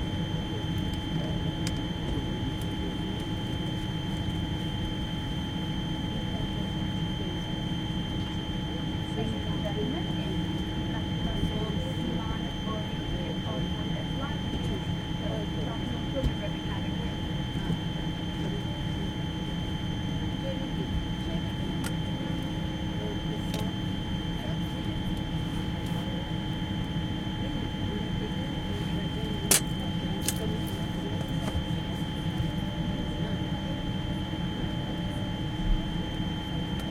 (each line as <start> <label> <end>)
0.0 Constant drone 36.9